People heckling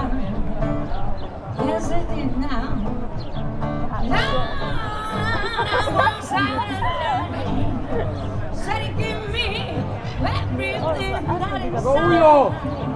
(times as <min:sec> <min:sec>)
0:03.8 0:12.8